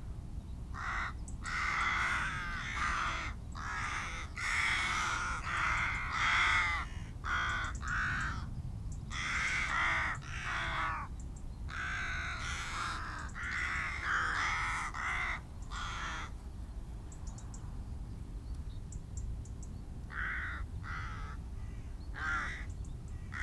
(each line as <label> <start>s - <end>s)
gathering of rooks and crows 0.7s - 8.5s
gathering of rooks and crows 9.1s - 16.4s
gathering of rooks and crows 20.1s - 23.4s